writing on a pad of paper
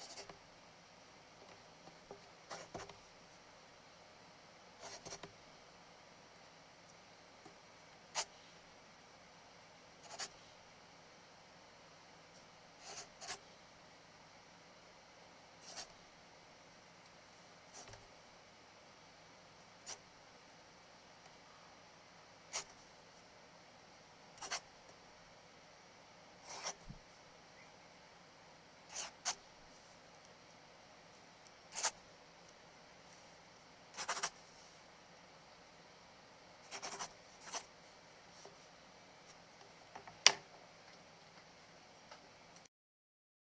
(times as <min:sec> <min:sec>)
0:00.0 0:00.4, 0:01.9 0:03.1, 0:04.8 0:05.4, 0:08.1 0:08.5, 0:10.0 0:10.4, 0:12.4 0:13.5, 0:15.6 0:16.0, 0:17.7 0:18.1, 0:19.8 0:20.1, 0:22.5 0:22.8, 0:24.4 0:24.7, 0:26.4 0:27.0, 0:28.9 0:29.5, 0:31.7 0:32.0, 0:33.2 0:34.8, 0:36.6 0:38.8